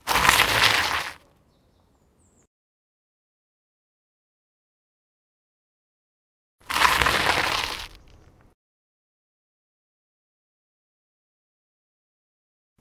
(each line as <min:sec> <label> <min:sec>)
0:00.0 Bicycle braking on gravel 0:01.2
0:06.6 Bicycle braking on gravel 0:08.4